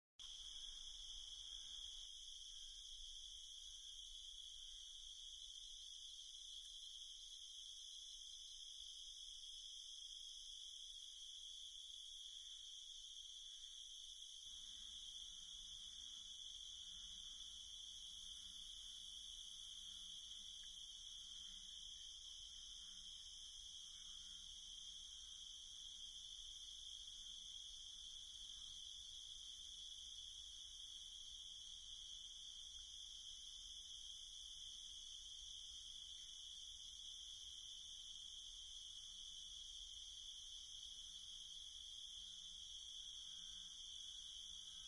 Night Crickets-Hi Frequency 0:00.2 - 0:44.8
bullfrogs 0:00.2 - 0:44.8

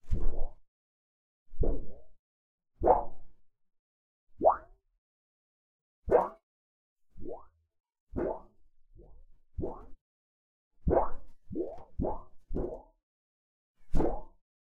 sheet of thin plastic wobbling back and forth 0:00.0 - 0:00.6
sheet of thin plastic wobbling back and forth 0:02.8 - 0:03.2
sheet of thin plastic wobbling back and forth 0:04.4 - 0:04.7
sheet of thin plastic wobbling back and forth 0:06.1 - 0:06.4
sheet of thin plastic wobbling back and forth 0:07.1 - 0:07.5
sheet of thin plastic wobbling back and forth 0:08.1 - 0:10.0
sheet of thin plastic wobbling back and forth 0:10.8 - 0:12.9
sheet of thin plastic wobbling back and forth 0:13.8 - 0:14.4

